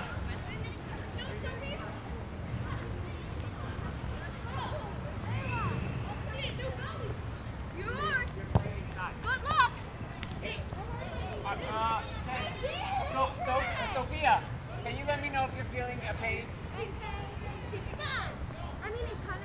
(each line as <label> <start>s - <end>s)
children playing basketball 0.0s - 14.8s
children playing basketball 16.4s - 19.4s